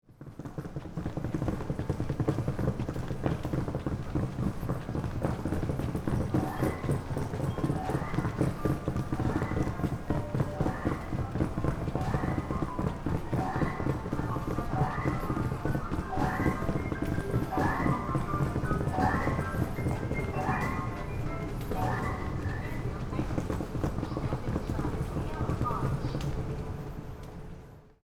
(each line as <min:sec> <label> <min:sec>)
0:00.4 Hand luggage 0:27.4